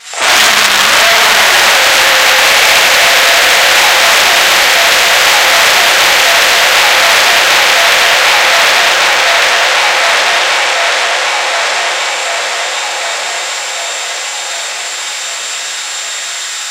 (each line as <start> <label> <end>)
0.0 scream 16.7